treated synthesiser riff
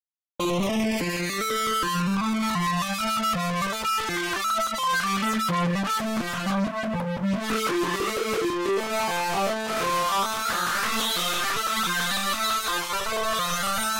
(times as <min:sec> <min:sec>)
0:07.4 0:10.2